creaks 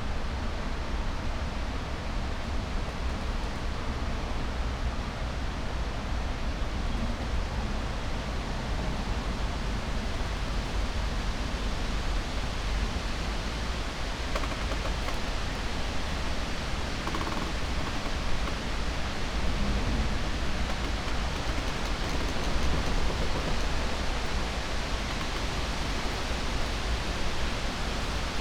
13.5 28.4

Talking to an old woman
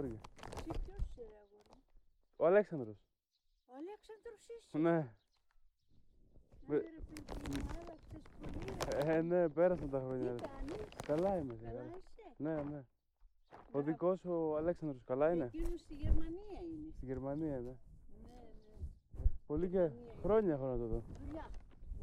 6.6 12.8, 19.6 21.6

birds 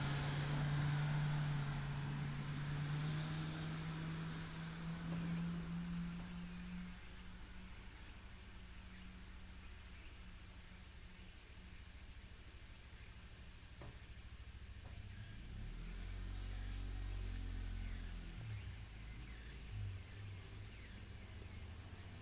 16.4 22.2

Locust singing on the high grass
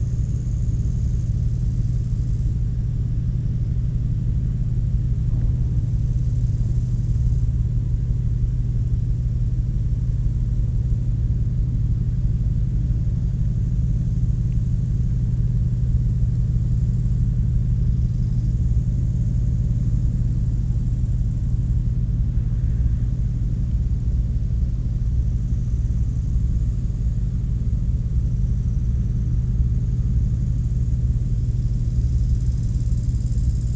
13.7 33.7

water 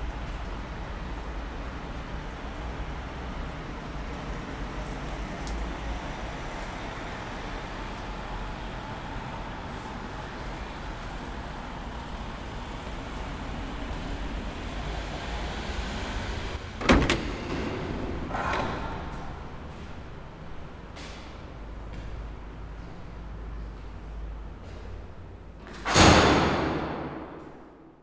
0.0 16.2

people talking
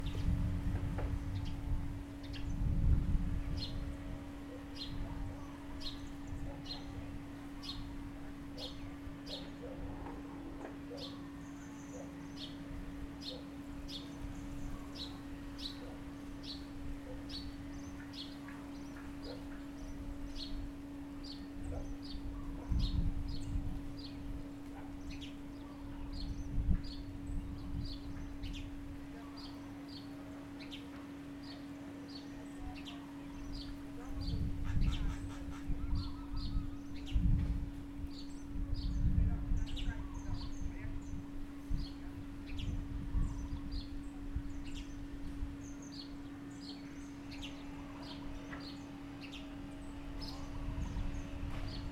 29.0 30.6, 31.9 36.8, 38.8 41.1

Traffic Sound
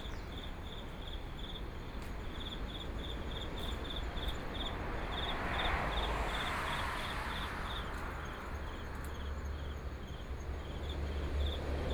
3.8 11.9

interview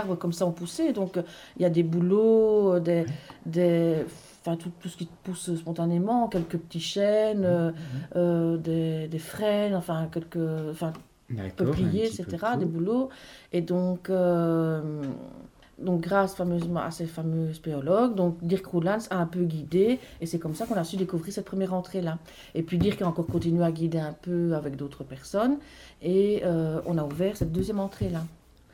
9.2 13.0

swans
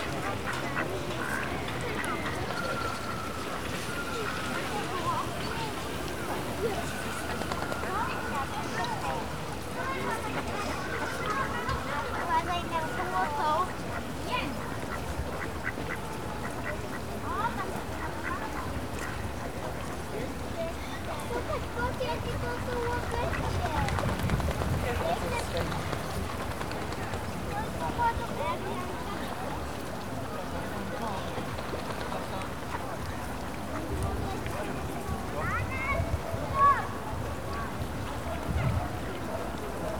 0.0 29.9

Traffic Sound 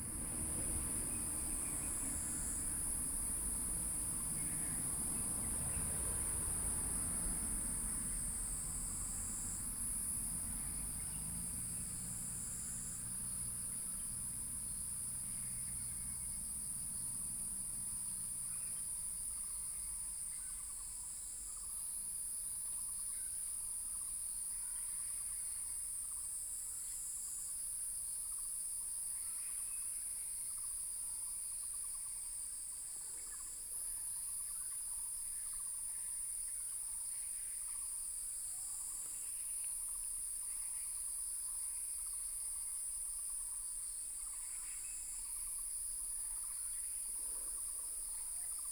0.0 21.5

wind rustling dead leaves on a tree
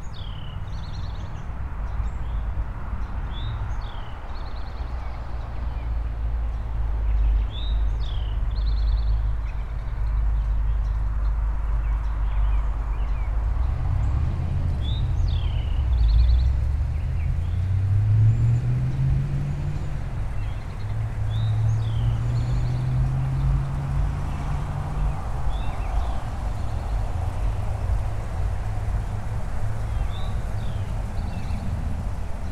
9.2 32.5

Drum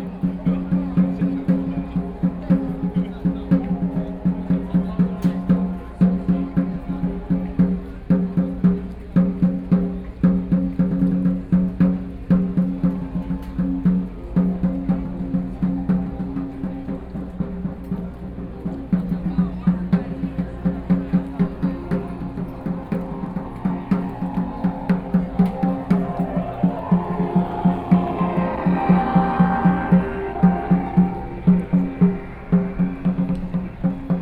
20.0 34.2

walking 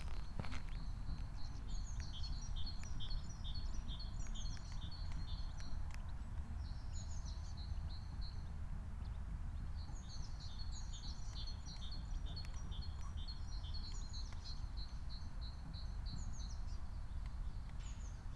0.0 1.4

